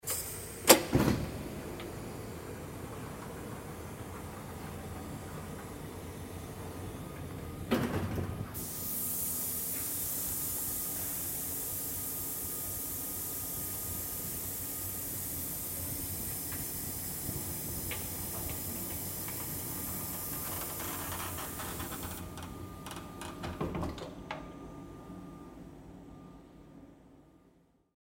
automatic door 0:00.1 - 0:08.7
automatic door 0:17.3 - 0:25.2

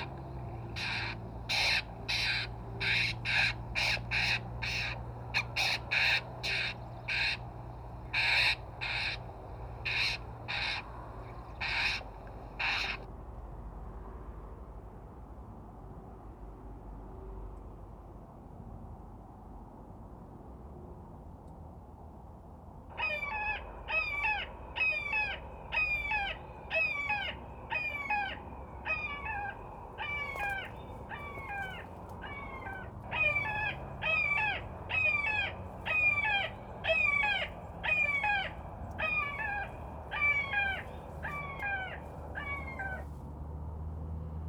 loudspeakers playing bird predetor and distress calls 0:00.0 - 0:13.1
loudspeakers playing bird predetor and distress calls 0:22.9 - 0:43.1

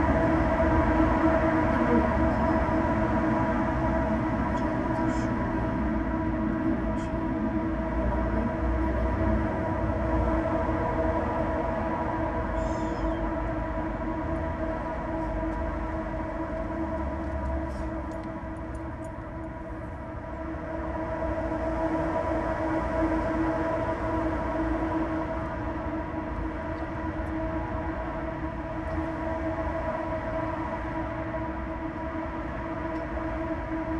street traffic 0:00.0 - 0:33.9
trains 0:00.0 - 0:33.9
gentle voice heard within a railing tube 0:01.4 - 0:08.8

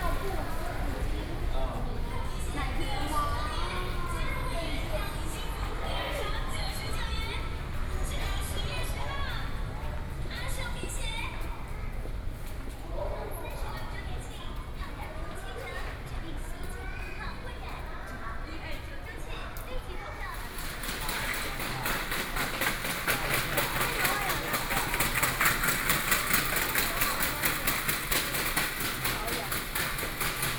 train 0:00.0 - 0:30.5

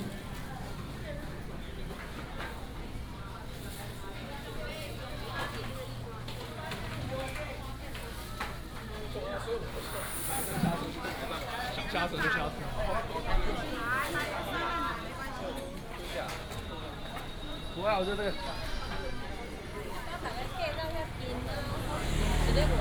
A variety of vendors 0:00.0 - 0:22.8
Walking through the market 0:00.0 - 0:22.8

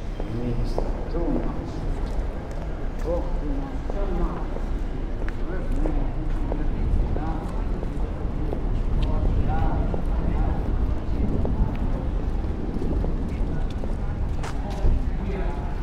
storm approaching 0:06.8 - 0:15.8

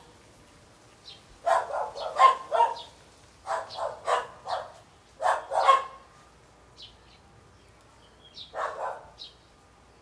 Dogs barking 0:01.5 - 0:02.8
Dogs barking 0:03.5 - 0:05.9
Dogs barking 0:08.6 - 0:09.1

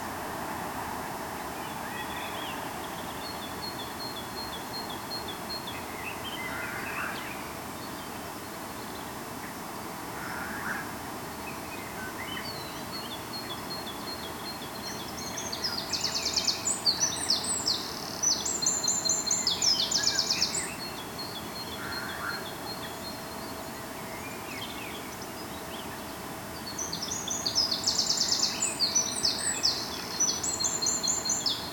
Morning birds 0:01.4 - 0:31.7

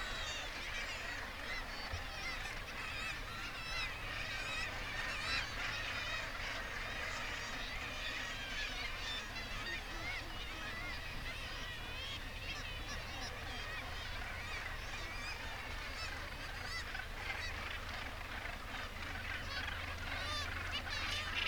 gannet calls and flight calls 0:00.0 - 0:21.4

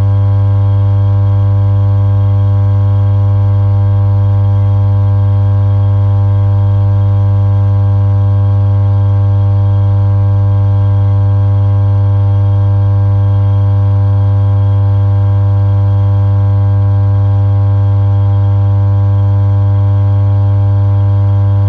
Electrical substation hum 0:00.0 - 0:21.6

